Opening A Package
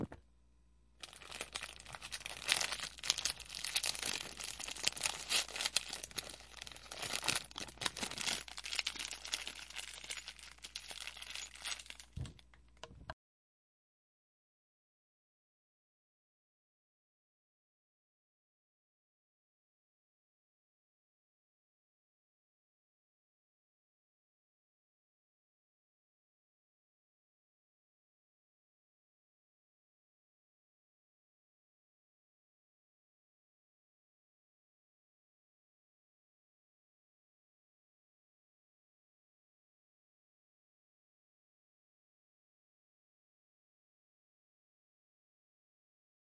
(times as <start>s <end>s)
1.0s 12.5s